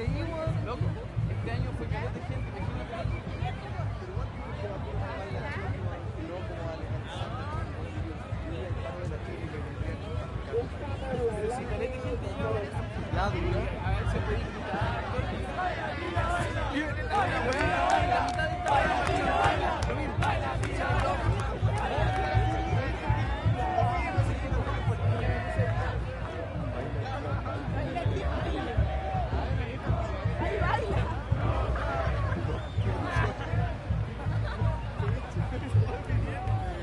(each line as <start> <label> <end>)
0.0 drums 6.2
0.0 conversaciones 36.8
0.0 crowd 36.8
12.1 drums 36.8